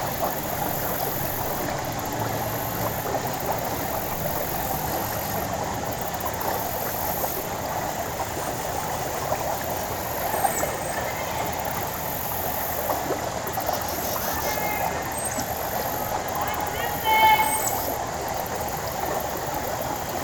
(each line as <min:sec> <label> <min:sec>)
0:00.0 insects 0:20.2
0:00.0 Water flows over a fallen log 0:20.2
0:10.2 people 0:12.2
0:14.1 people 0:18.1